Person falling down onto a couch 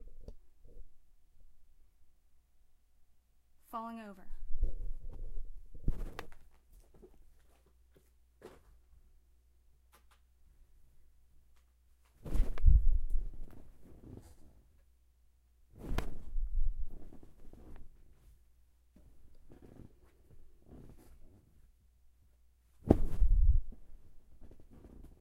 0:04.5 0:07.7, 0:12.1 0:14.2, 0:15.8 0:18.0, 0:22.8 0:25.2

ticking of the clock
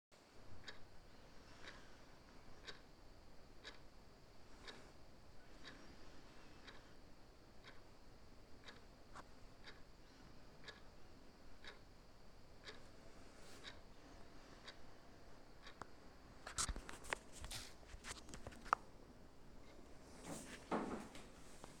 0:00.3 0:17.2

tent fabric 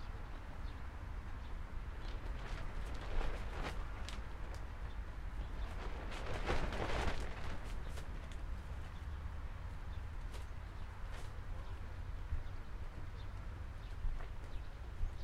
0:01.9 0:11.9

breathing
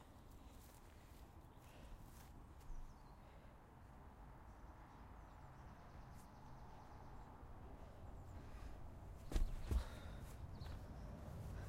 0:00.3 0:02.3, 0:03.0 0:03.7, 0:07.8 0:08.9, 0:09.6 0:10.4

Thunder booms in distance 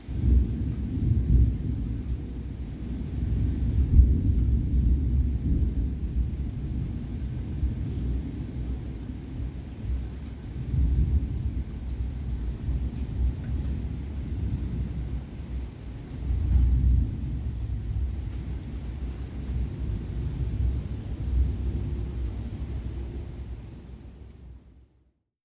0:03.0 0:09.6, 0:10.6 0:24.0

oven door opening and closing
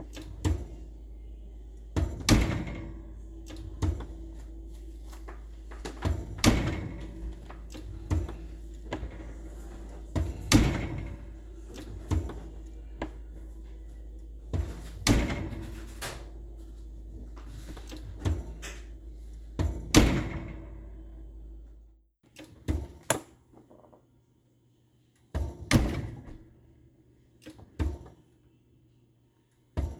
0:00.0 0:21.6

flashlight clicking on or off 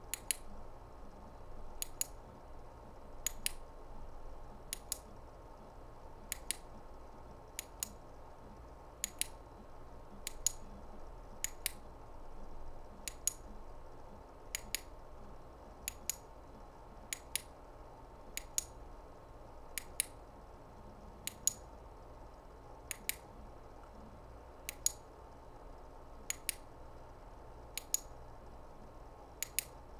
0:01.8 0:02.2, 0:03.2 0:03.6, 0:04.7 0:05.1, 0:06.3 0:06.7, 0:09.0 0:09.4, 0:10.2 0:10.6, 0:11.4 0:11.8, 0:27.8 0:28.2, 0:29.4 0:29.8

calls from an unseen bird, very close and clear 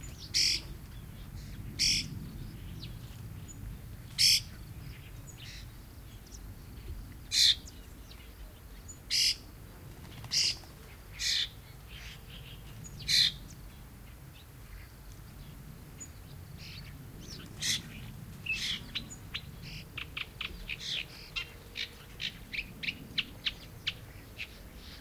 0:00.2 0:00.6, 0:09.1 0:09.5

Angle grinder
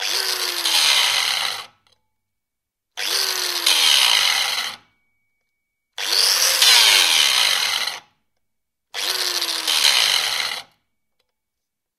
0:00.0 0:01.8, 0:03.0 0:04.9, 0:06.0 0:08.1, 0:09.0 0:10.7

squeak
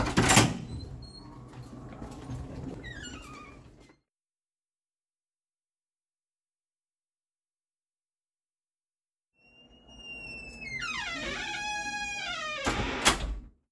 0:02.8 0:03.7, 0:09.4 0:13.0

